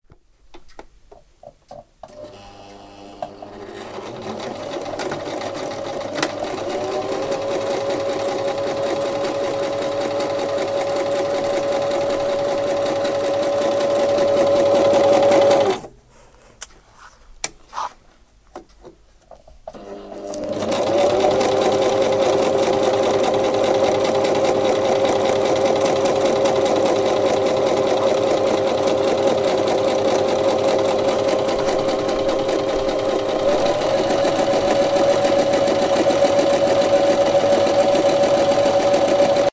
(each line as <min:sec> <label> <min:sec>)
0:02.0 Sewing machine 0:15.9
0:19.7 Sewing machine 0:39.5